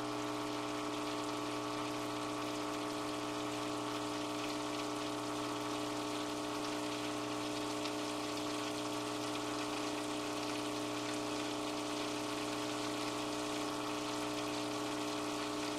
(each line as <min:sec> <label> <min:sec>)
0:00.0 broken motorized bowl for a cat's water 0:15.7